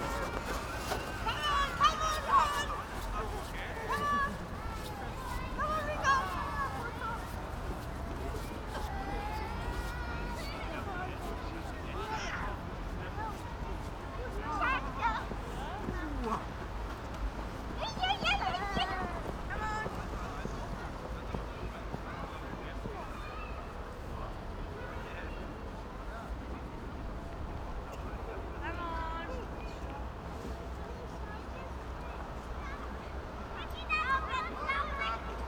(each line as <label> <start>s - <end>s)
children and parents sledging in the dark 0.0s - 35.4s